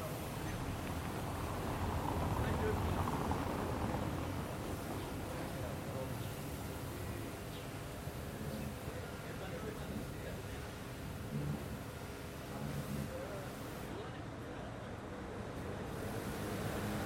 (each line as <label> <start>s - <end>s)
Mild traffic 0.0s - 17.0s
people passing by, talking 0.0s - 17.0s